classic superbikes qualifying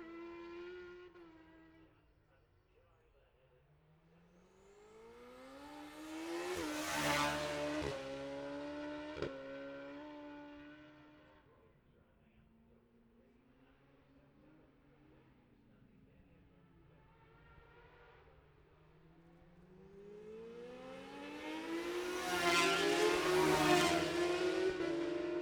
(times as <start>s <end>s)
3.8s 11.4s, 13.6s 25.4s